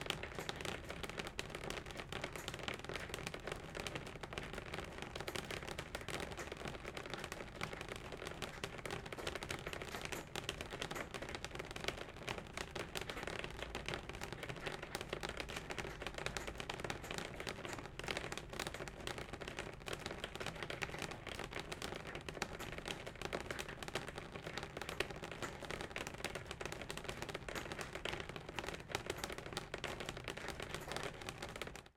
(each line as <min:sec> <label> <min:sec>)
0:00.1 Raining on the Glass Window 0:31.9